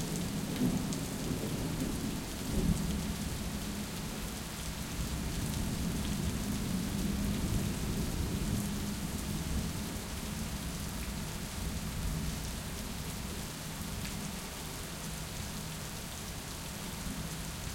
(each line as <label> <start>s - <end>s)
heavy, fat rain 0.0s - 17.7s